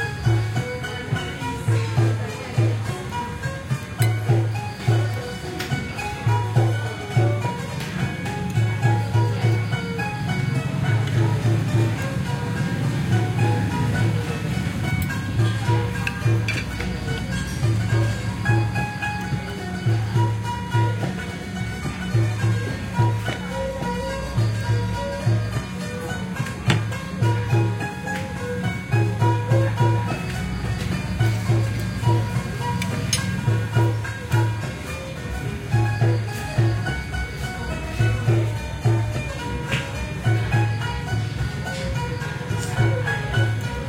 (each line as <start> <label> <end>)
0.0 Street music 43.8